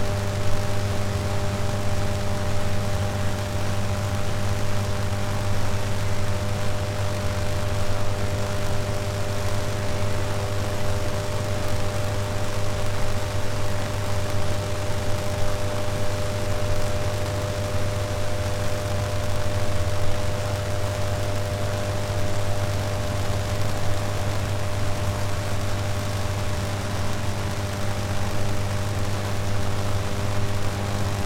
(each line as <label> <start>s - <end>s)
Electricity in the rain 0.0s - 31.2s
Rain on the power station units 0.0s - 31.2s